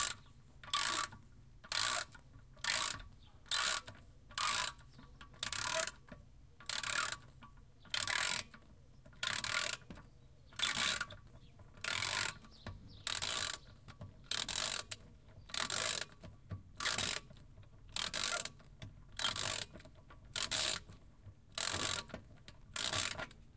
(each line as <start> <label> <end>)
0.0 ratchet 9.9
10.6 ratchet 11.2
11.8 ratchet 23.4